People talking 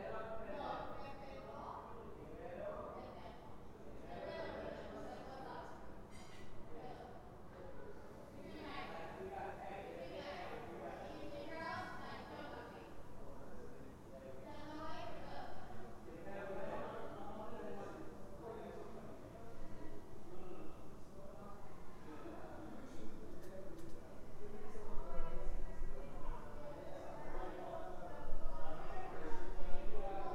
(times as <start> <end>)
4.0 7.1